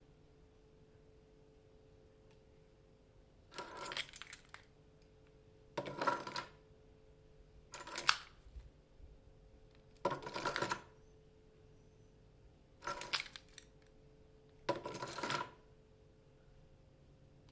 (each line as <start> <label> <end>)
3.5 picking up and putting down a set of house keys 4.8
5.8 picking up and putting down a set of house keys 6.6
7.7 picking up and putting down a set of house keys 8.7
9.7 picking up and putting down a set of house keys 11.0
12.8 picking up and putting down a set of house keys 14.0
14.6 picking up and putting down a set of house keys 15.6